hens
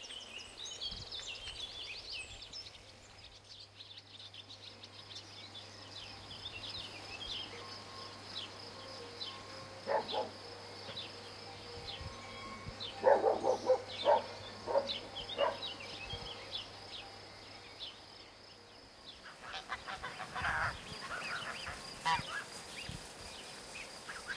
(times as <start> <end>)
19.2 24.3